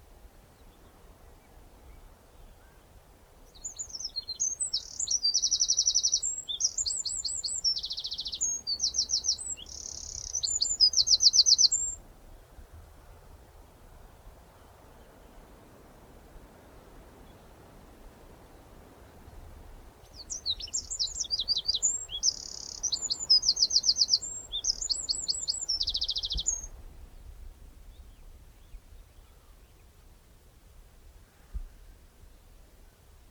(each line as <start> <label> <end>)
3.6 birds chirping 12.0
11.7 grass blowing in breeze 29.2
20.0 birds chirping 26.7